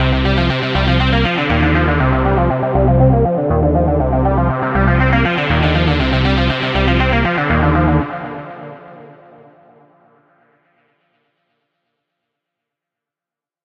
guitar 0:00.0 - 0:09.2

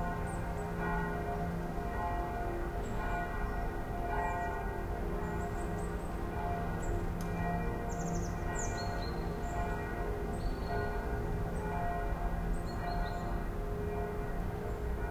distant churchbells 0:00.0 - 0:15.1

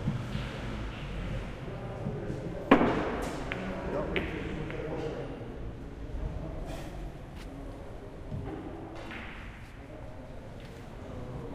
crowd 0:00.0 - 0:11.5

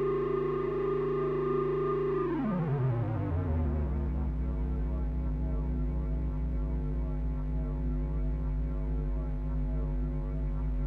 Drone 0:00.0 - 0:09.2

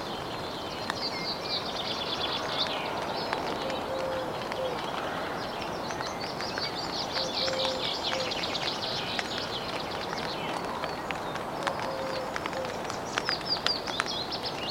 Drizzle in a tent 0:00.0 - 0:14.7

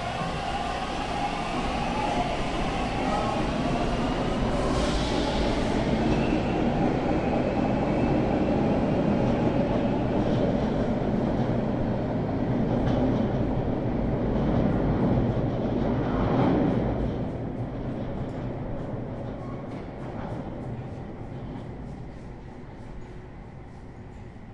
train enters station 0:00.0 - 0:24.5

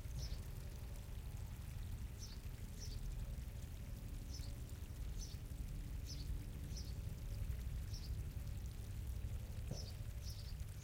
Stream 0:00.0 - 0:10.8
Wind 0:00.0 - 0:10.8
Birds 0:09.6 - 0:10.8

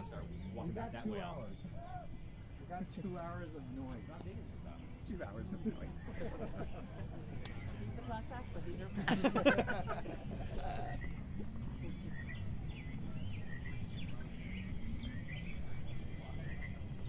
chatter 0:00.0 - 0:17.0
traffic 0:00.0 - 0:17.0

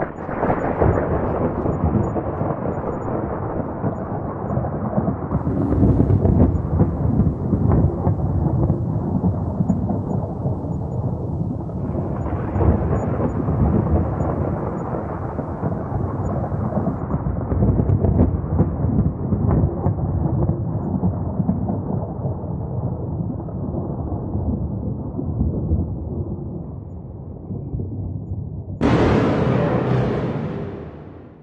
long thunder sound 0:00.0 - 0:18.9
long thunder sound 0:28.8 - 0:31.4

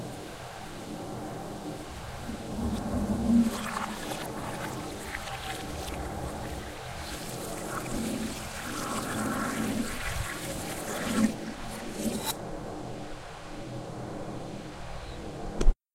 fan 0:00.0 - 0:15.7
flushing toilet sound reversed 0:02.3 - 0:12.4

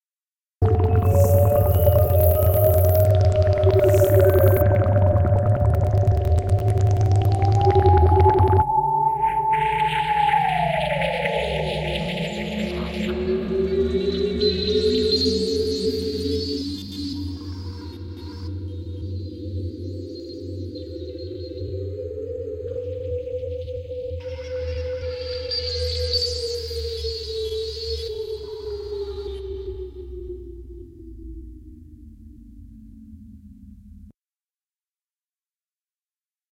space ships 0:00.6 - 0:14.0

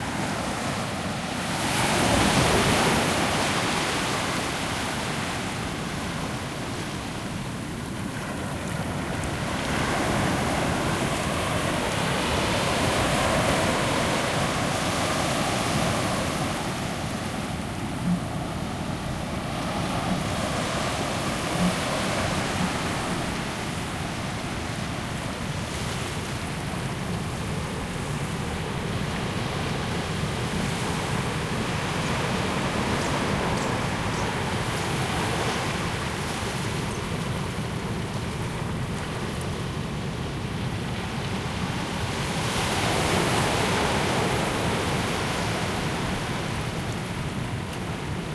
waves in a medium strength breeze 0:00.0 - 0:48.3

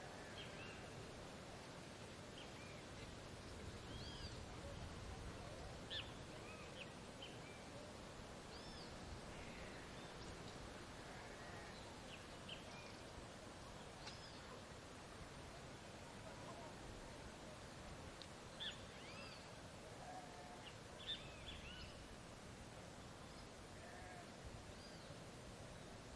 cicadas 0:00.0 - 0:26.1
wind 0:00.0 - 0:26.1
birds 0:01.6 - 0:04.5
birds 0:05.2 - 0:14.6

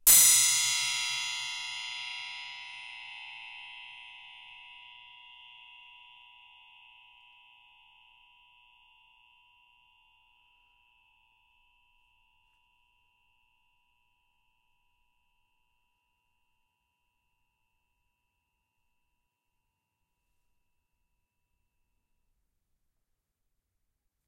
metal spring hit with a metal rod 0:00.0 - 0:03.3

